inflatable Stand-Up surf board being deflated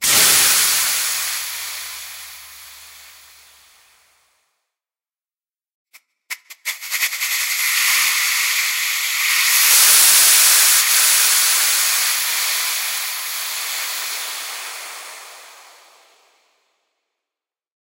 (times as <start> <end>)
7.5 16.1